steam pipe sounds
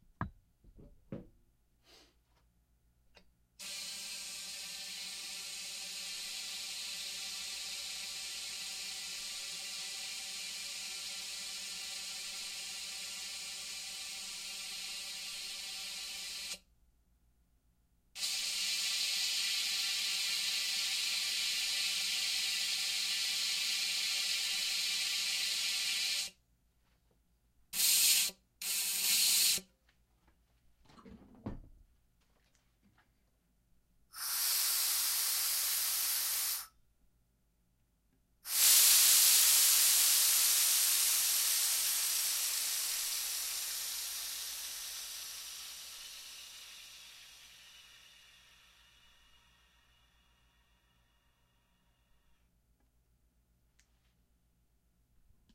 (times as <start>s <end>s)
18.2s 26.3s, 27.8s 29.6s, 34.2s 36.7s, 38.5s 50.2s